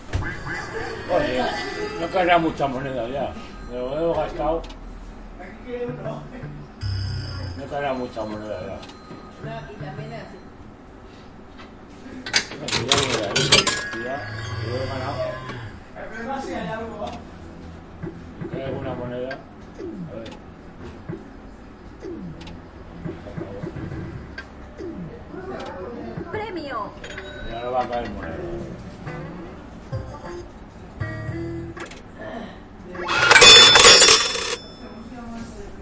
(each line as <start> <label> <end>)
12.9 falling coins 14.2
33.1 falling coins 34.8